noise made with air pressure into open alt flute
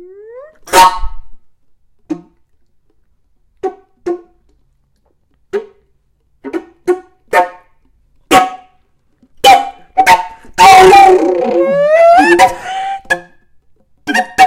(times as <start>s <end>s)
10.0s 13.3s